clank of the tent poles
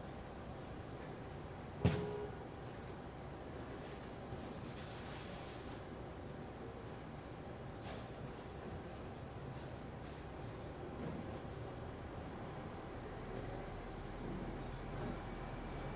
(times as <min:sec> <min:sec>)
0:01.8 0:02.2